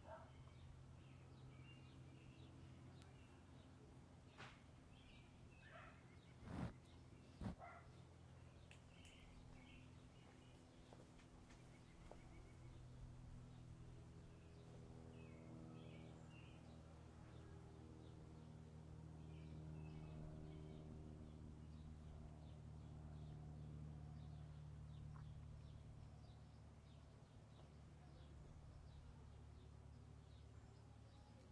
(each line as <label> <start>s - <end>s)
birds 0.0s - 18.2s
dog bark 0.0s - 0.4s
dog bark 5.7s - 6.0s
dog bark 7.6s - 7.9s